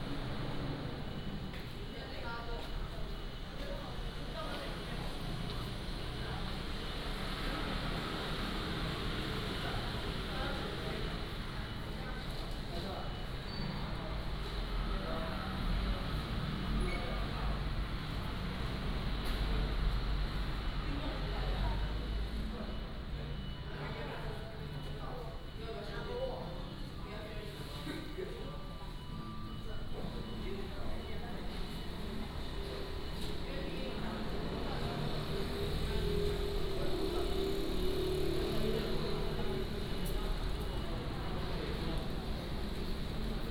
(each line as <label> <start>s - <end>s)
Traffic Sound 29.0s - 43.5s